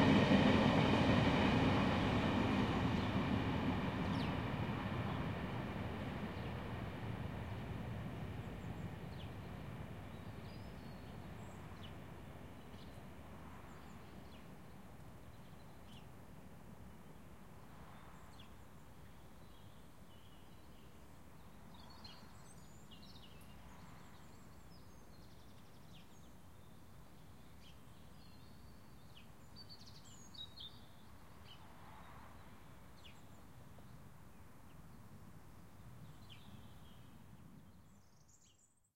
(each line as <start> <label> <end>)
0.0 Tube Train Pass 14.5